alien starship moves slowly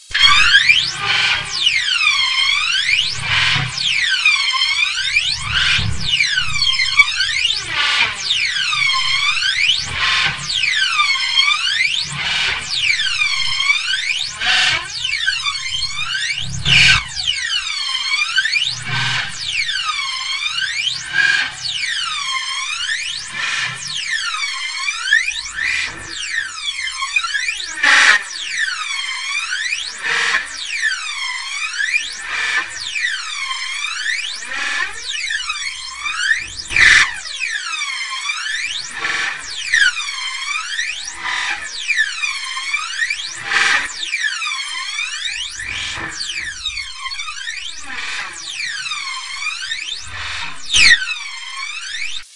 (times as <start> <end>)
2.6 10.0